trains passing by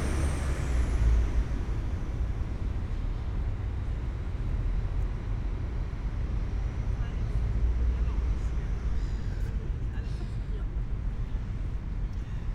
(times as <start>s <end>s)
0.0s 9.8s